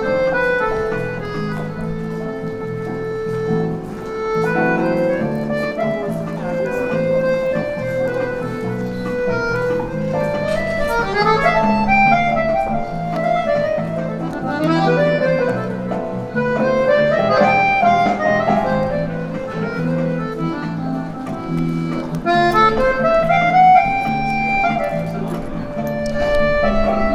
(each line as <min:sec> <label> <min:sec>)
0:00.0 people passing by 0:27.1
0:00.0 street musician 0:27.1
0:00.0 walking 0:27.1